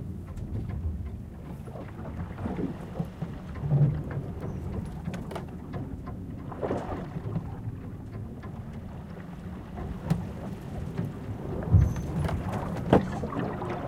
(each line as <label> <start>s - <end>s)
sailing ship 0.0s - 13.8s
waves 0.0s - 13.8s